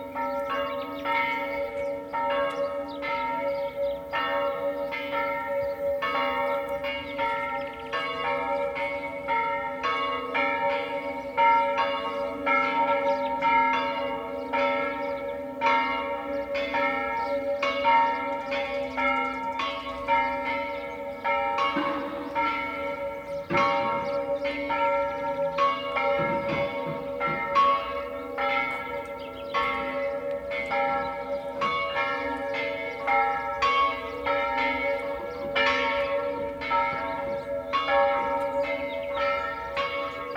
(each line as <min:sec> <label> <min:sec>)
0:00.0 birds 0:40.3
0:00.0 echo of church bells 0:40.3